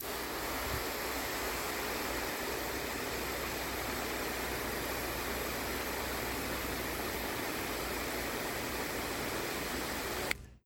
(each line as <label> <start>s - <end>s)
water hose spraying in flat mode 0.0s - 10.4s